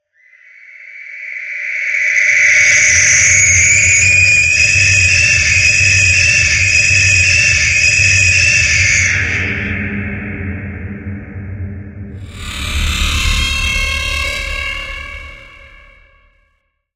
scream 12.2 - 16.5

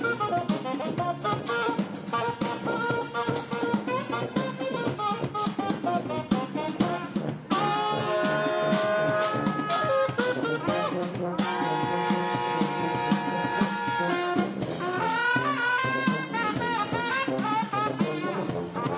brass band plays free music 0.0 - 18.9

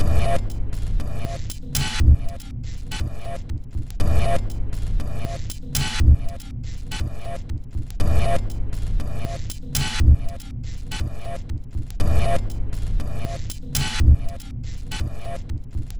Drum 0.0 - 15.9

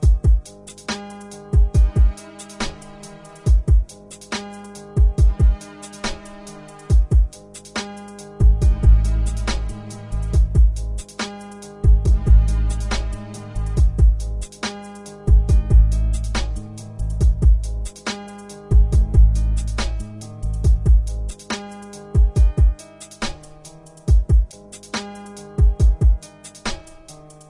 Bass 0.0 - 27.4
Kick 0.0 - 0.4
Snare 0.1 - 3.5
Kick 1.6 - 2.1
Snare 4.1 - 4.9
Kick 5.0 - 5.6
Snare 5.9 - 8.3
Kick 8.4 - 9.0
Snare 9.3 - 12.2
Kick 10.4 - 10.8
Kick 11.9 - 12.5
Snare 12.8 - 15.2
Kick 13.8 - 14.2
Kick 15.3 - 16.6
Snare 16.2 - 22.2
Kick 17.2 - 17.6
Kick 18.8 - 20.0
Kick 20.6 - 21.0
Kick 22.2 - 22.8
Snare 22.8 - 27.4

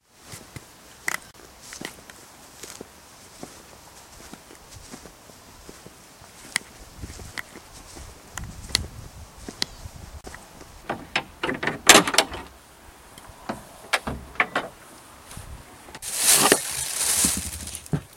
walking to shed door in wellies 0.0 - 18.1
opening shed door 10.8 - 12.6
opening shed door 13.3 - 14.8
rustle of taking apples out of plastic bag 16.0 - 18.1

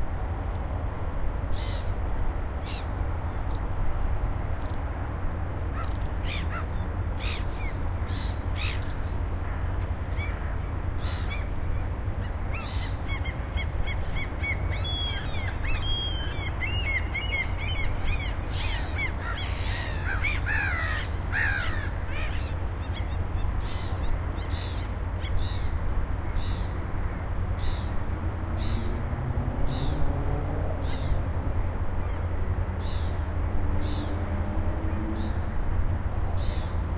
distant traffic 0.0 - 36.9

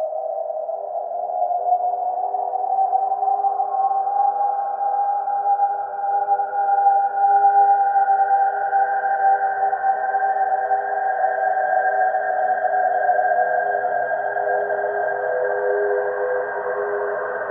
slowly evolving ambient drone pad 0.0 - 17.5

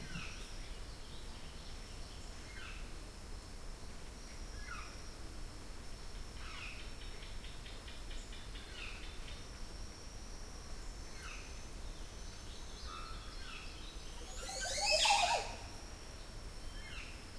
large bird in a tree making such a funny and strange call 14.3 - 15.6

